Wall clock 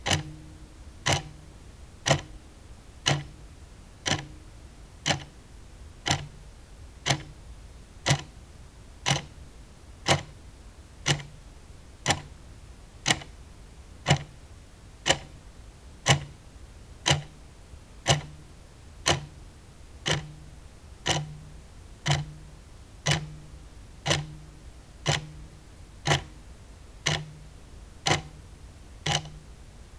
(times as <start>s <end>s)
0.0s 2.4s, 3.0s 3.4s, 4.0s 4.4s, 5.0s 5.3s, 6.0s 6.4s, 7.0s 7.4s, 8.0s 8.3s, 9.0s 9.3s, 10.1s 10.4s, 11.0s 11.4s, 12.0s 12.4s, 13.0s 13.4s, 14.0s 14.4s, 15.0s 15.4s, 16.1s 16.4s, 17.0s 17.4s, 18.0s 19.4s, 20.0s 29.6s